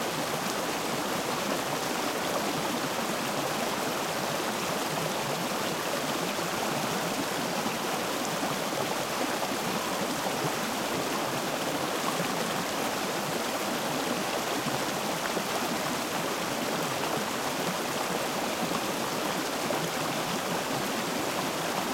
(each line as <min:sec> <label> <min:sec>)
0:00.0 small waterfall 0:21.9